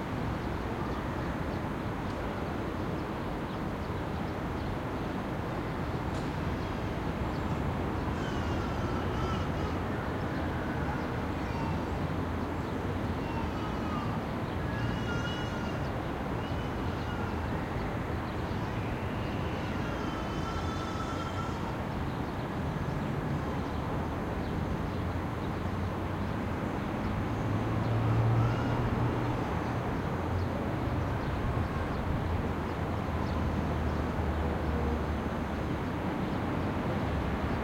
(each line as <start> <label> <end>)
0.0 traffic 37.6